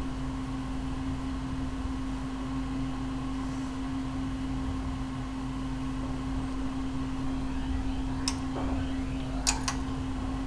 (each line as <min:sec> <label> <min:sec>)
0:00.0 evening rumble form other apartments 0:10.4
0:06.6 high pitched whine 0:10.4